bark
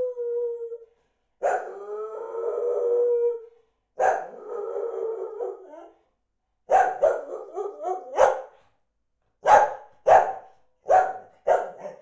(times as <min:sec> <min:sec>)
0:01.4 0:01.7, 0:04.0 0:04.4, 0:06.7 0:08.7, 0:09.4 0:12.0